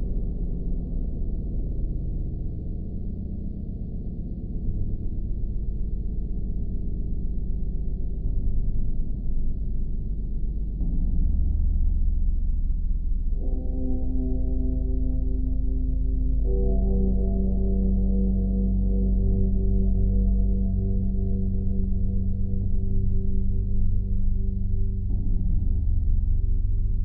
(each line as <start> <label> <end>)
13.3 dark and creepy wee drone 27.0